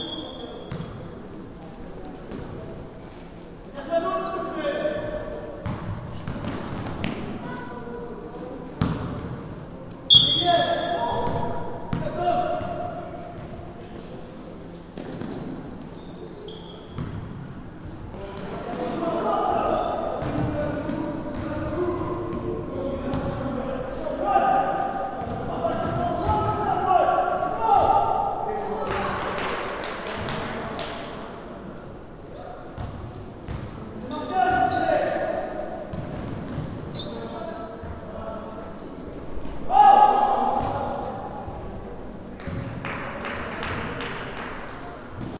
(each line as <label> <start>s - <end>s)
players running (squeaky shoes) 4.1s - 7.6s
players running (squeaky shoes) 8.3s - 9.5s
players running (squeaky shoes) 10.1s - 18.1s
players running (squeaky shoes) 19.6s - 22.5s
coach/people shouting 24.0s - 29.0s
players running (squeaky shoes) 25.2s - 26.7s
players running (squeaky shoes) 32.5s - 35.0s
players running (squeaky shoes) 35.9s - 38.1s
coach/people shouting 39.7s - 41.0s
players running (squeaky shoes) 40.4s - 41.0s